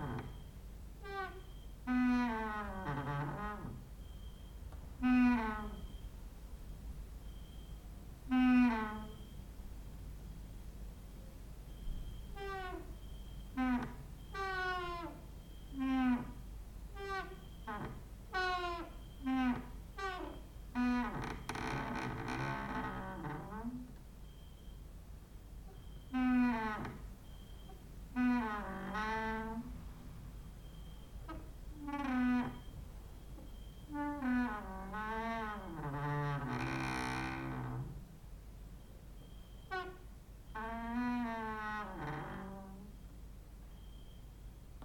0.0s creaking with wooden doors 6.1s
8.3s creaking with wooden doors 9.4s
11.8s creaking with wooden doors 24.0s
25.6s creaking with wooden doors 38.1s
39.4s creaking with wooden doors 43.0s

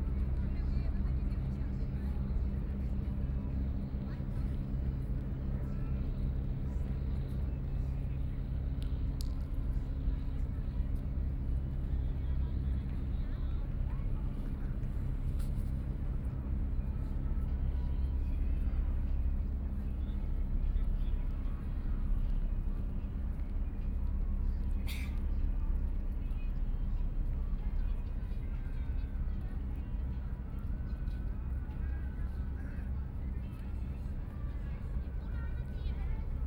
0.0s Boat traveling through 36.4s
0.0s Many tourists 36.4s

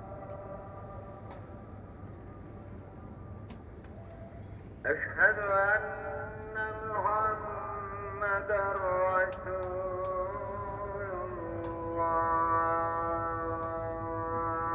4.8s Muezzin call to prayer 14.7s

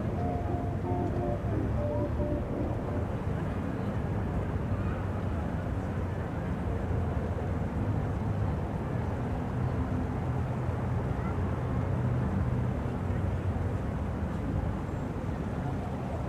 0.0s Carillion 3.8s

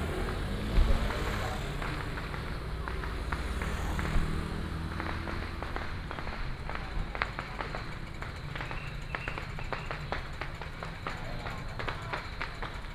0.0s Firecrackers 12.9s
0.0s Many people gathered at the intersection 12.9s

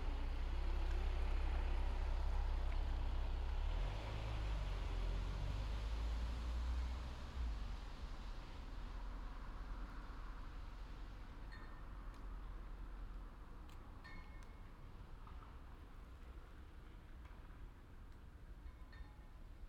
0.0s sporadic traffic on the street 19.6s
11.4s flag poles clattering in the wind 19.6s

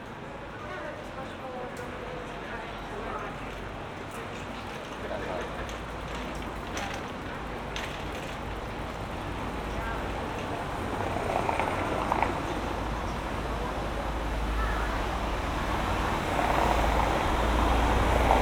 0.0s cyclists 18.4s
0.0s night traffic 18.4s
4.3s passers by 18.4s

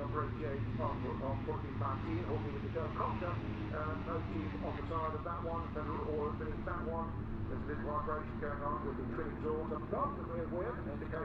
0.0s Motorcycle Grand Prix 11.2s

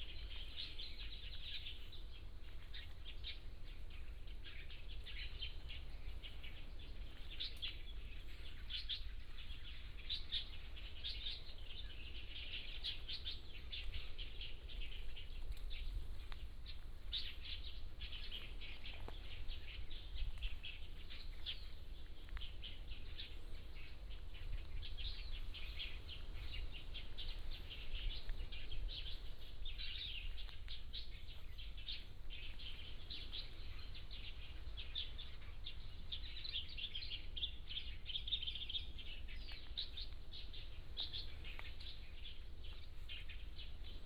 0.0s Birds singing 44.0s

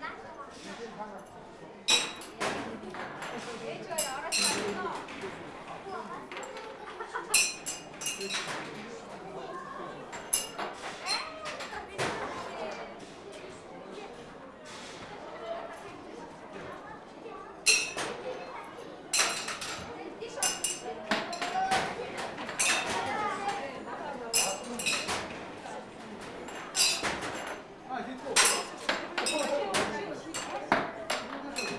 7.4s little rings had to be thrown on glass bottles 8.4s

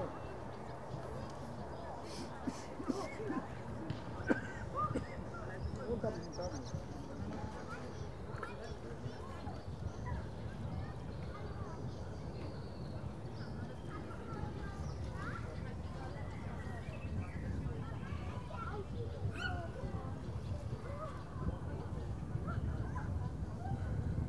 0.0s people relaxing on the pier 24.2s

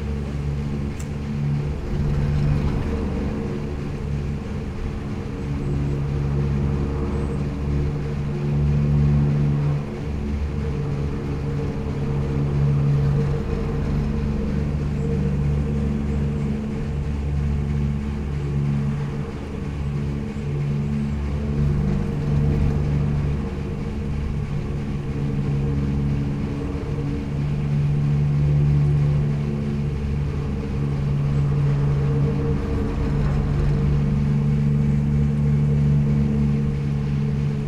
0.0s resonant poles of the Pohorje ropeway 37.6s

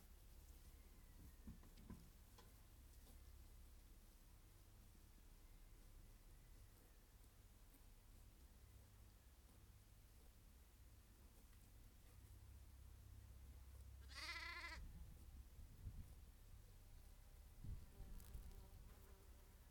14.0s grazing sheep 14.8s

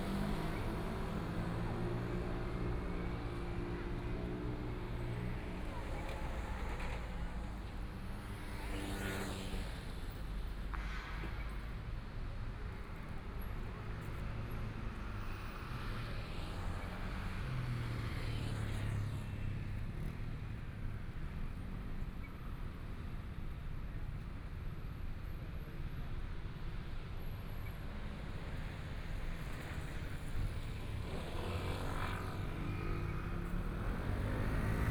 0.0s Traffic Sound 34.9s
12.6s walking on the Road 34.9s

